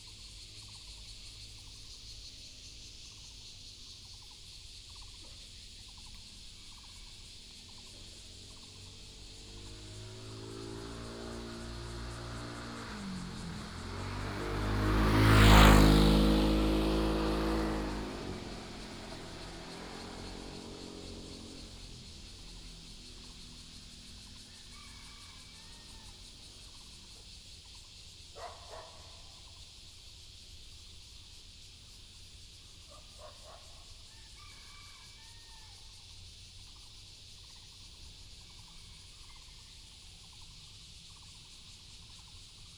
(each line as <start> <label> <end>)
0.0 birds sound 29.7
0.0 Cicada cry 42.7
7.7 traffic sound 27.4